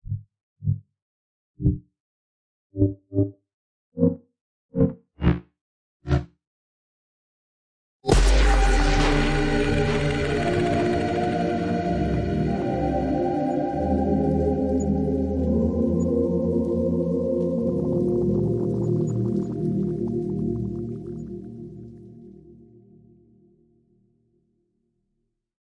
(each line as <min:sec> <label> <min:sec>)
0:08.1 impact 0:12.5
0:08.1 synthesized chord progression bursts through a forcefield 0:22.6